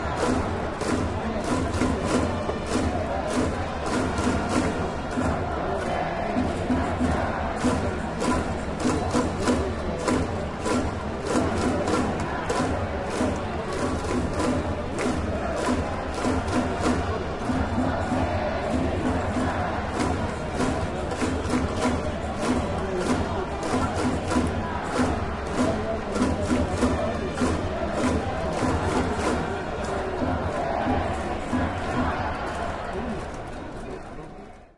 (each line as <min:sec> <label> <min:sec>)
0:00.0 Crowd 0:34.7